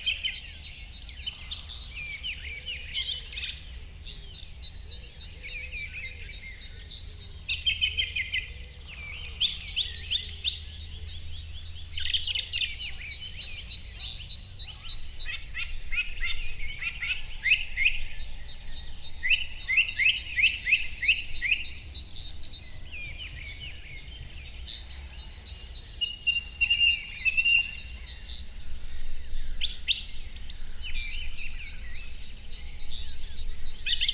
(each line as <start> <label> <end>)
0.0 morning birdscape in the fields 34.1